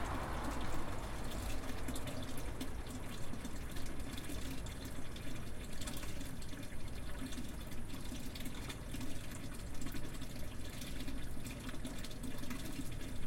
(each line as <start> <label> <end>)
0.0 cars going by the nearby road 7.9